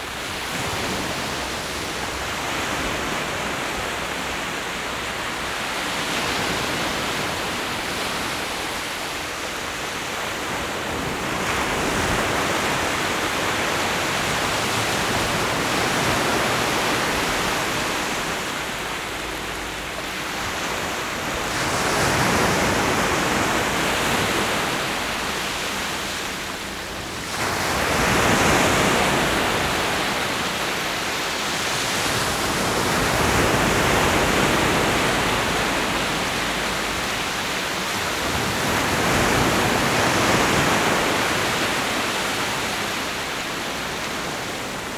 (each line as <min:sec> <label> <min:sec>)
0:00.0 waves 0:44.9